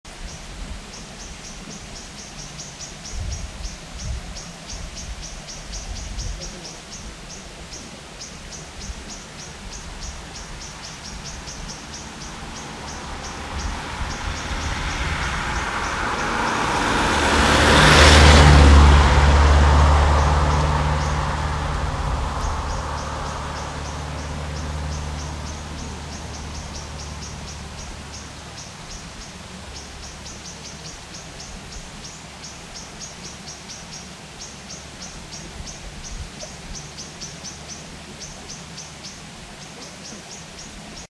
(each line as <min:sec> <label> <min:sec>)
0:00.0 wind 0:41.1
0:00.1 creek 0:41.1
0:00.1 vehicle 0:41.1
0:00.2 birds 0:18.4
0:05.9 voices 0:16.9
0:19.4 birds 0:41.1
0:34.9 voices 0:41.0